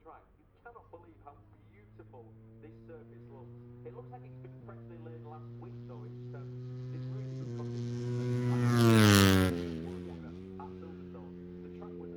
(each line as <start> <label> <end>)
0.0 motorcycle grand prix 12.1